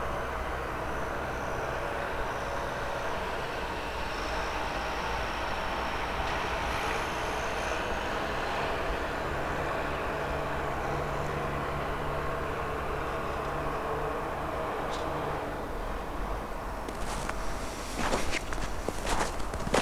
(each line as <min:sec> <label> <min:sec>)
0:16.8 excavator cleaning snow 0:19.8